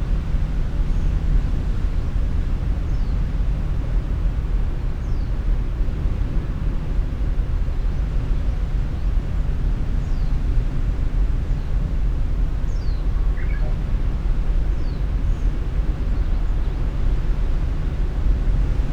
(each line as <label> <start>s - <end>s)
small birds 12.7s - 13.8s